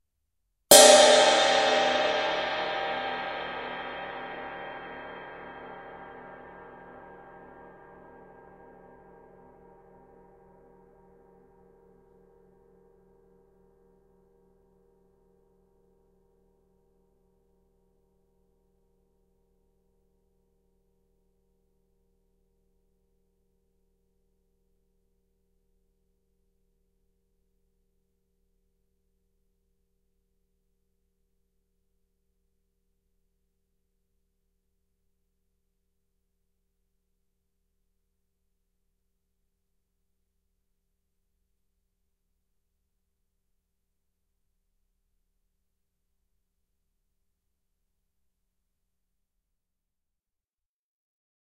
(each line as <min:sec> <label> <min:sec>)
0:00.7 Large Cymbal - Stick 0:09.9